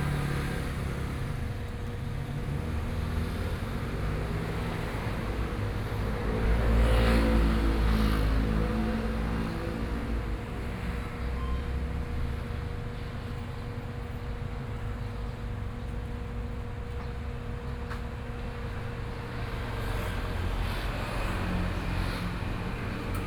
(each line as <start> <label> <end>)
16.4 Traffic Sound 23.2